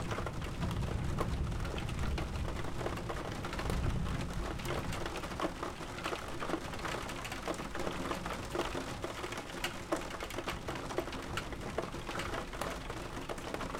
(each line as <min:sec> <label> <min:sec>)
0:00.0 thunder 0:05.1
0:00.0 Big rain 0:13.7